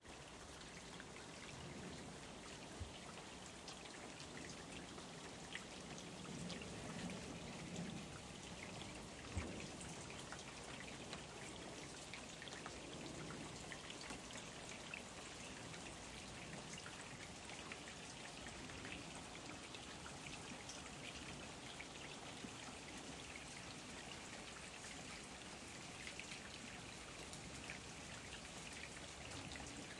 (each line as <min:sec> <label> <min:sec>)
0:00.0 Stream-flow 0:29.9
0:00.0 downpour on the wood terrace 0:29.9
0:00.0 windy 0:29.9